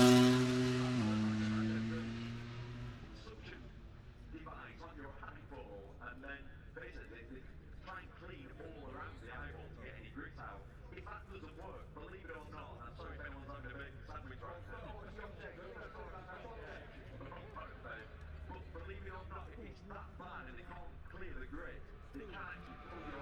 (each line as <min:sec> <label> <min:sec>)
0:00.0 motorcycle grand prix 0:23.2